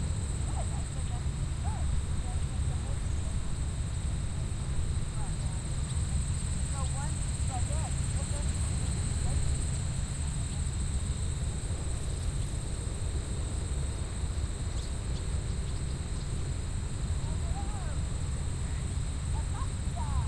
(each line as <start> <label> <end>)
0.0 airplane 20.2
0.0 cicadas 20.2
0.0 crickets 20.2
0.0 helicopter 20.2
0.0 voices 20.2